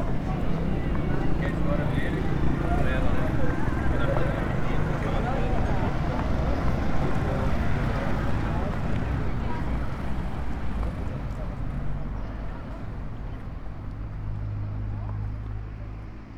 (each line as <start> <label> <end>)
0.0 voices 14.1
0.0 street vendors 16.3
0.0 vehicles 16.3
0.0 wind 16.3